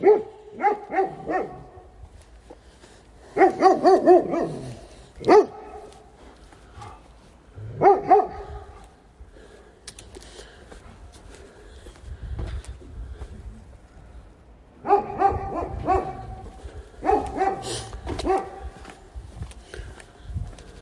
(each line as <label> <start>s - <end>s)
devil dog barking 0.0s - 1.9s
devil dog barking 3.4s - 6.0s
devil dog barking 7.7s - 8.9s
devil dog barking 14.8s - 18.8s